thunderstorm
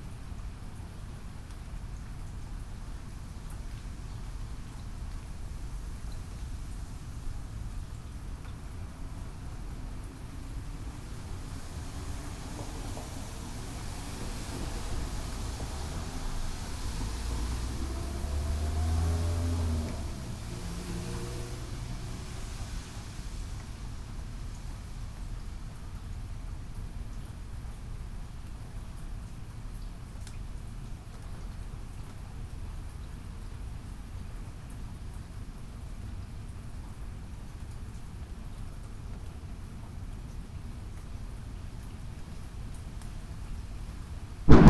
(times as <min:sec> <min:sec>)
0:44.5 0:44.6